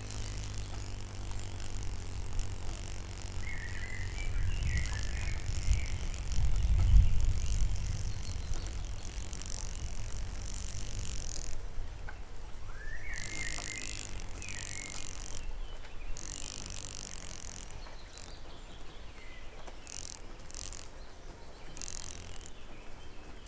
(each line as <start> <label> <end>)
0.0 insect beating its wing on a wooden plank 23.4